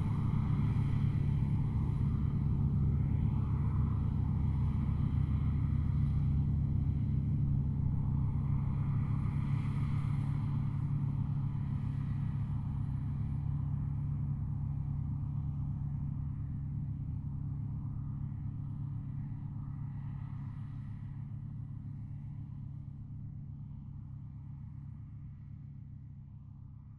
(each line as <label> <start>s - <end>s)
combine harvester in the fields, harvesting the wheat 0.0s - 26.9s
machines in the fields everywhere 0.0s - 26.9s